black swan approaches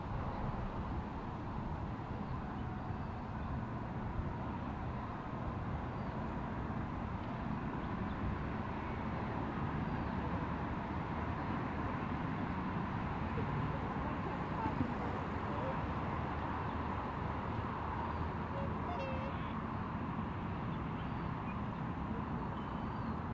18.0s 19.6s

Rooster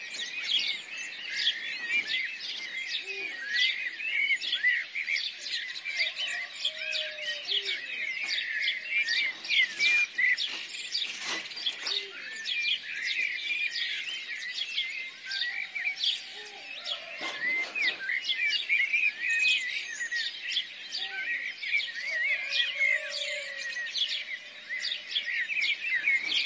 5.8s 7.9s, 16.4s 18.0s, 22.1s 23.8s

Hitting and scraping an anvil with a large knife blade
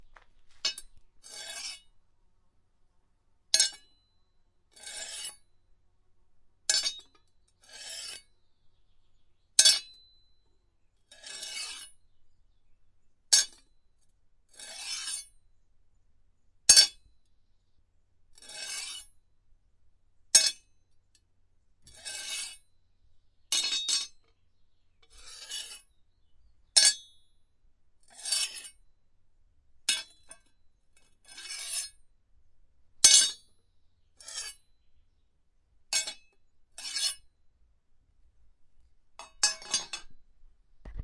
0.6s 1.9s, 3.5s 4.0s, 4.8s 5.4s, 6.7s 8.3s, 9.6s 10.0s, 11.1s 12.0s, 13.3s 13.7s, 14.6s 15.4s, 16.7s 17.0s, 18.4s 19.2s, 20.3s 20.6s, 21.8s 22.7s, 23.5s 24.2s, 25.0s 26.0s, 26.8s 27.2s, 28.1s 28.8s, 29.8s 32.0s, 33.0s 33.5s, 34.2s 34.7s, 35.9s 37.3s, 39.2s 40.2s

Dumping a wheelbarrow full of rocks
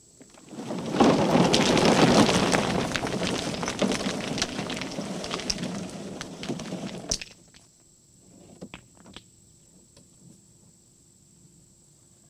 0.0s 7.7s

